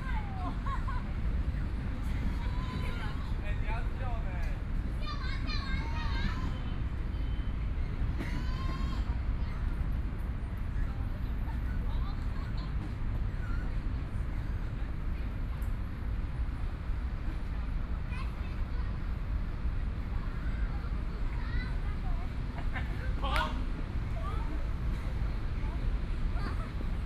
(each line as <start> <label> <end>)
12.6 Traffic Sound 27.0